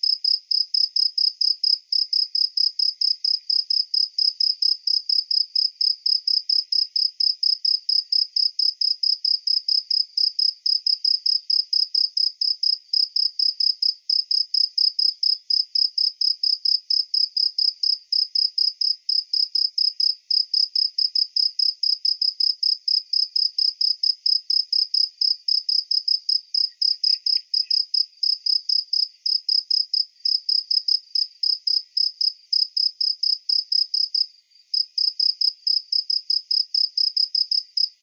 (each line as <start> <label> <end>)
0.0 cricket 38.0